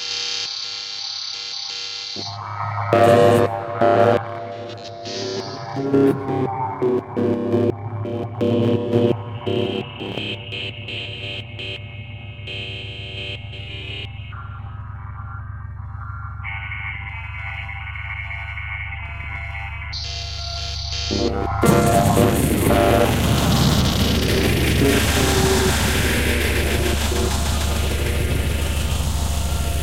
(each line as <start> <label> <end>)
21.6 explosion-like and rattling sounds 29.8